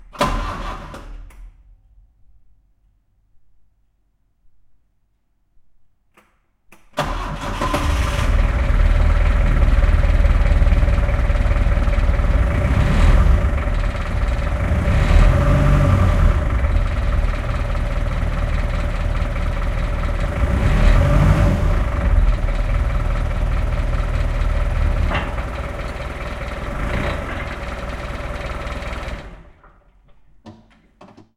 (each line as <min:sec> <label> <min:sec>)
0:00.0 fork lift start and run 0:01.6
0:07.0 fork lift start and run 0:31.3